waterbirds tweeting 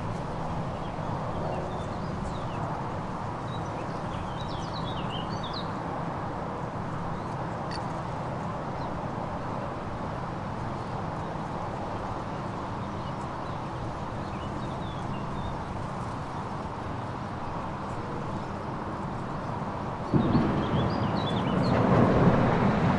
0.1 5.8, 10.5 22.9

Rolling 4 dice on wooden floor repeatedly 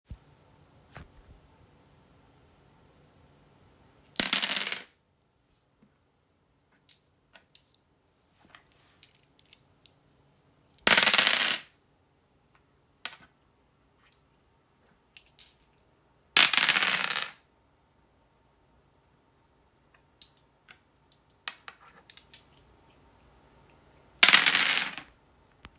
4.1 5.0, 8.4 9.7, 10.8 11.8, 13.0 13.4, 15.2 15.8, 16.4 17.4, 19.9 22.8, 23.6 25.2

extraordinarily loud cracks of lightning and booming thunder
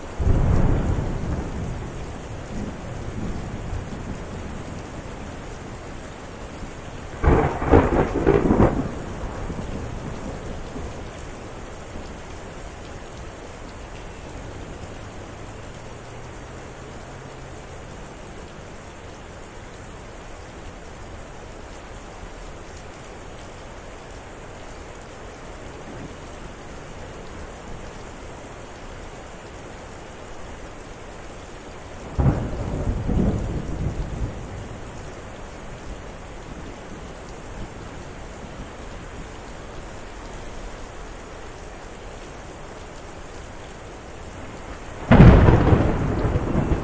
0.2 5.1, 7.0 11.3, 32.0 35.0, 44.4 46.8

